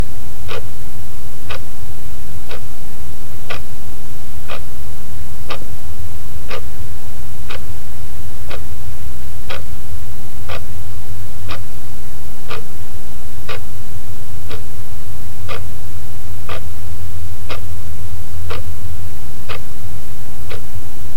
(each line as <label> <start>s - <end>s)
in-dash clock 17.5s - 17.7s
in-dash clock 18.5s - 18.7s